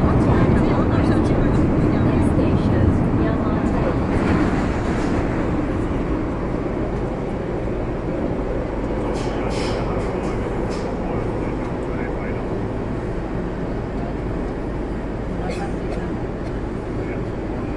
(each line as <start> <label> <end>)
0.0 announcements 4.5
0.0 people talking 4.6
0.0 Ride MTR (train) 17.7
9.0 people talking 12.6
15.4 people talking 16.2
16.9 people talking 17.7